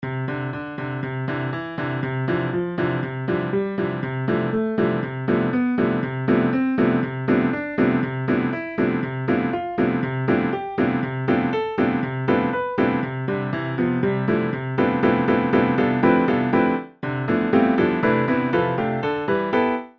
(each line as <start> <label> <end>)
0.0 Piano Sounds 2 19.9